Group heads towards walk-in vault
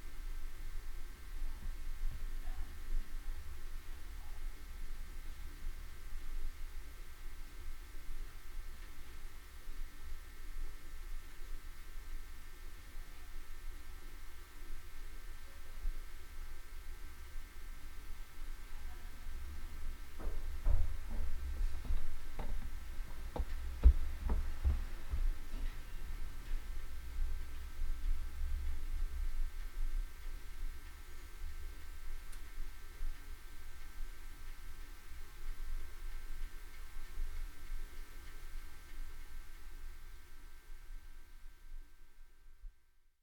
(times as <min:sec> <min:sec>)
0:19.2 0:34.6